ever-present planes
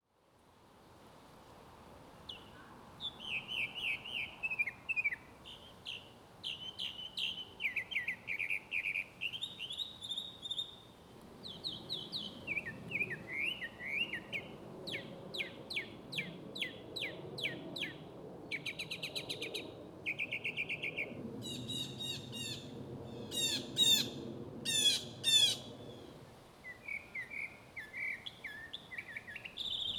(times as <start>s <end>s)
11.1s 26.5s